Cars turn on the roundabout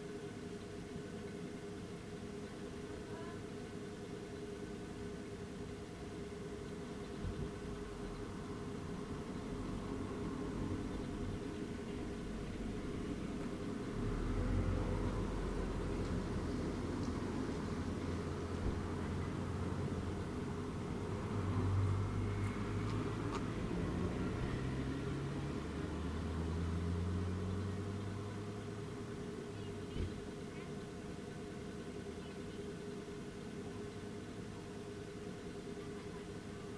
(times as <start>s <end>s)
8.9s 29.3s